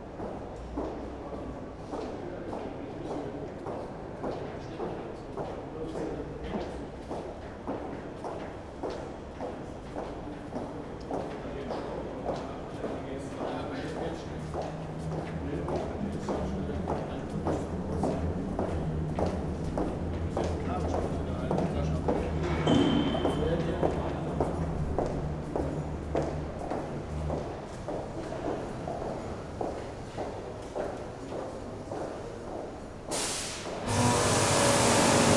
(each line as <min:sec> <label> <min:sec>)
0:33.1 workers cleaning stairway with high pressure cleaner 0:35.3